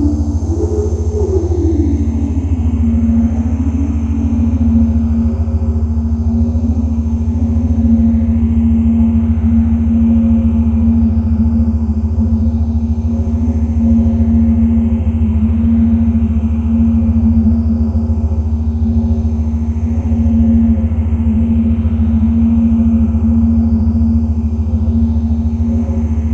heavy lightly distorted pad sound 0.0 - 11.2
drone like background 0.0 - 26.3

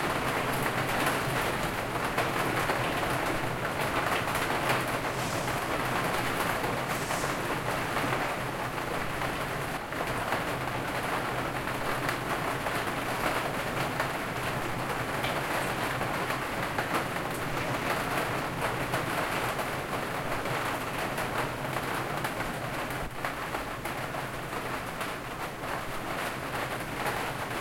Hard Rain with 2 Skylights 0.0 - 27.6

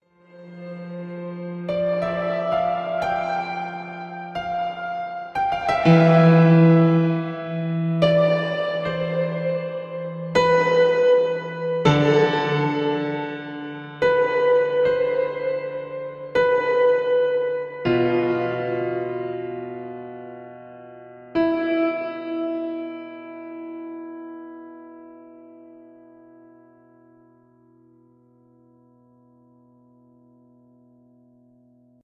piano 0.0 - 32.0
strings 0.1 - 19.6

